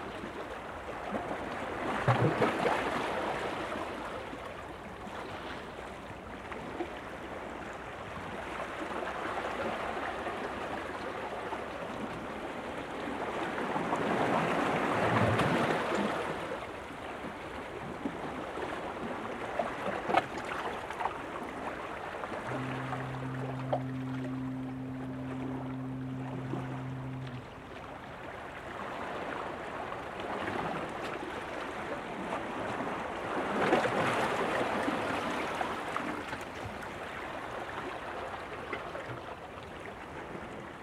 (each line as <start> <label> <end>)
22.3 fog horn somewhere at sea 31.4